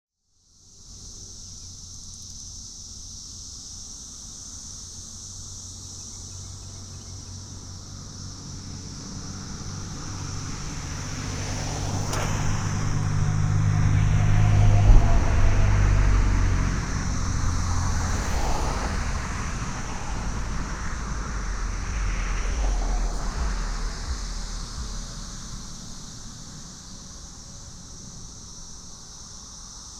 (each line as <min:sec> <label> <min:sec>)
0:00.2 insects (mostly cicadas) 0:29.9
0:00.5 Traffic 0:29.9
0:06.3 trucks 0:29.9